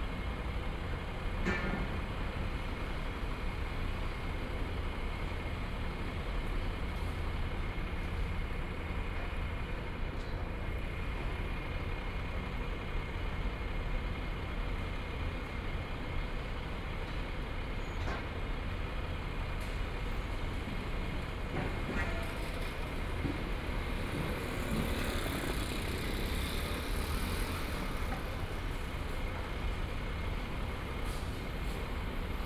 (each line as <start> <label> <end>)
0.0 Construction site sounds 32.4
18.0 Traffic Sound 32.4